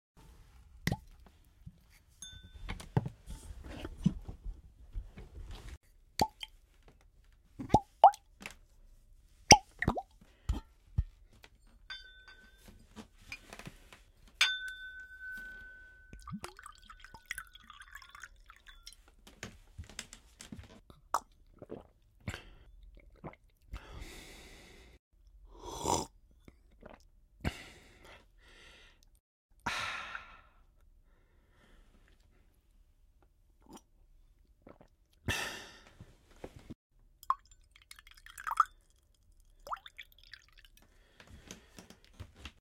manipulating a glass 0:11.9 - 0:13.7
pouring in a glass 0:15.4 - 0:19.0
pouring in a glass 0:37.2 - 0:40.8

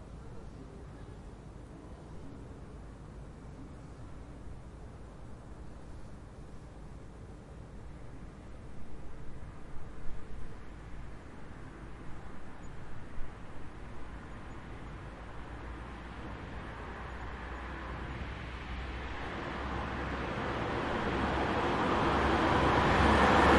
cars passing by 0:13.4 - 0:23.5

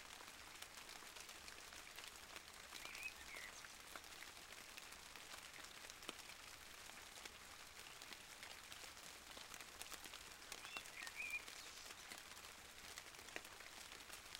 rain 0:00.0 - 0:14.3

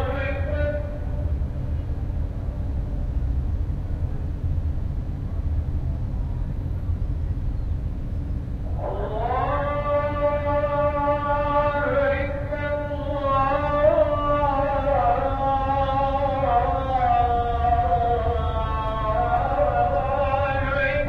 adhan 0:00.0 - 0:01.4
adhan 0:08.6 - 0:21.0

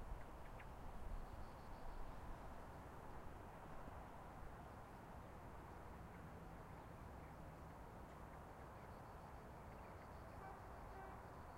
Wind 0:00.0 - 0:11.5
Crickets 0:01.0 - 0:02.5
Crickets 0:08.6 - 0:11.5

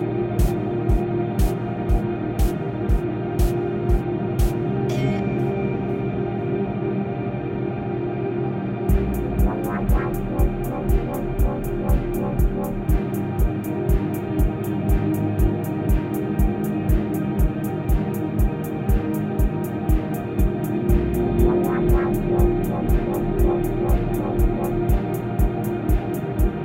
drums 0:00.0 - 0:04.6
vocal 0:04.9 - 0:05.6
drums 0:08.9 - 0:26.6

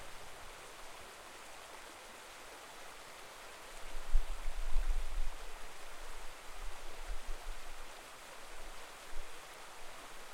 small river 0:00.0 - 0:10.3

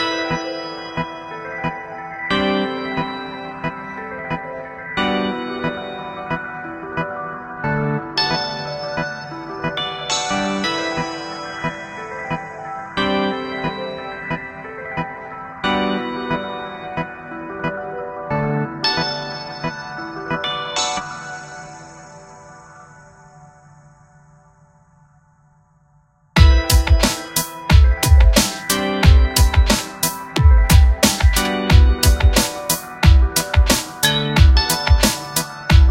Piano/Synth 0:00.0 - 0:25.1
Piano/Synth 0:26.4 - 0:35.9
bass 0:26.4 - 0:35.9
Punchy Trance Kick 0:26.4 - 0:29.8
Electronic Closed High Hat 0:26.4 - 0:35.9
Driven Snare 0:28.4 - 0:28.8
Driven Snare 0:29.7 - 0:30.2
Punchy Trance Kick 0:30.4 - 0:32.4
Driven Snare 0:31.0 - 0:31.6
Driven Snare 0:35.0 - 0:35.5

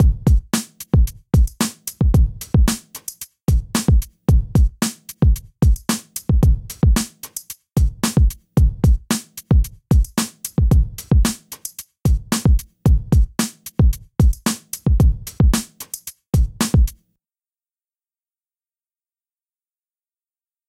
breakbeat 0:00.0 - 0:17.0

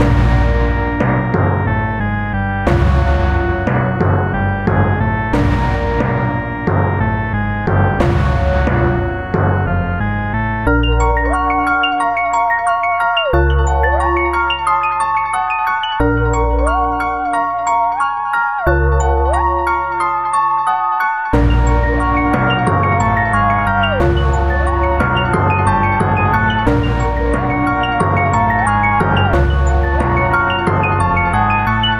timpani 0:00.0 - 0:10.6
theremin 0:00.0 - 0:31.9
glockenspiel 0:02.7 - 0:31.9
timpani 0:21.4 - 0:31.8

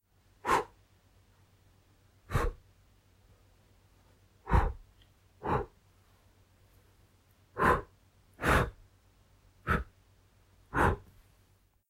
short blows/puffs of air from male mouth 0:00.4 - 0:00.8
short blows/puffs of air from male mouth 0:02.3 - 0:02.6
short blows/puffs of air from male mouth 0:07.6 - 0:08.8

